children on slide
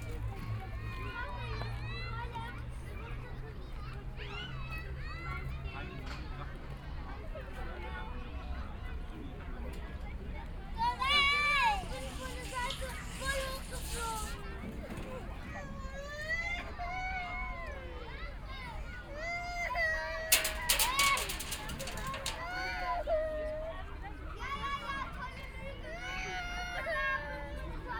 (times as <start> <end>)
10.8 16.3